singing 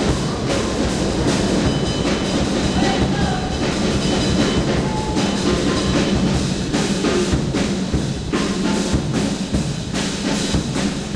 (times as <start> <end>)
2.7 3.8